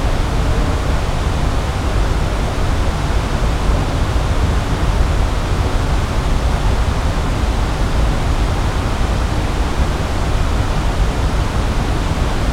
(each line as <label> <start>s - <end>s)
Air conditionning on the ground 0.0s - 12.5s